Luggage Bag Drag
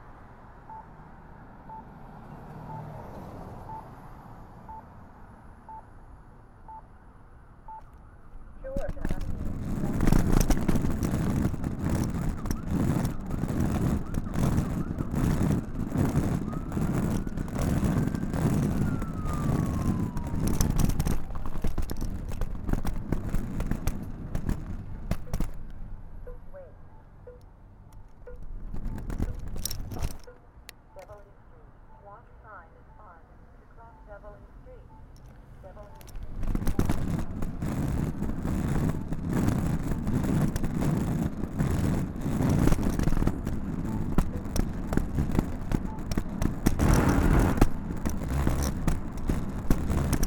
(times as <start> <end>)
9.0 25.6, 36.2 50.2